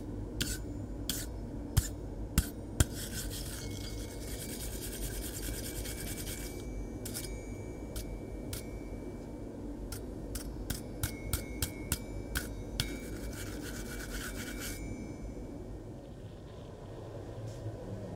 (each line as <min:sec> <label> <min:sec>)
0:00.0 air-powered metal brush on a metal piece 0:08.8
0:09.9 air-powered metal brush on a metal piece 0:15.0